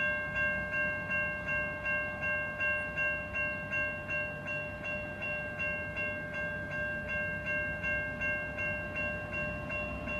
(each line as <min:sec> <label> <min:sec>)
0:04.4 freight train rumbles past 0:10.1